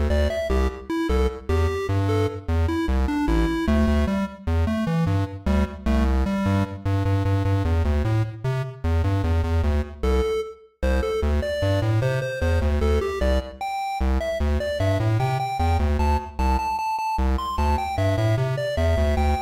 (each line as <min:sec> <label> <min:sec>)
0:00.0 8 bit music loop 0:07.6
0:09.2 8 bit music loop 0:19.4